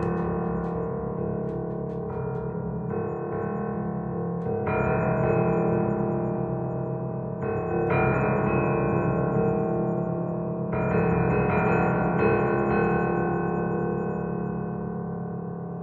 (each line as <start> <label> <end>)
0.0 upright piano 6.1